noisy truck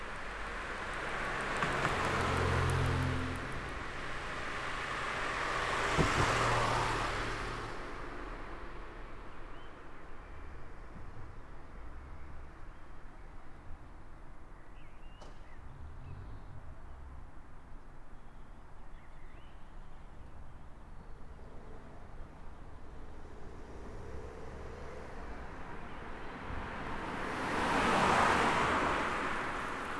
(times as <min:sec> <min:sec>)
0:00.0 0:12.2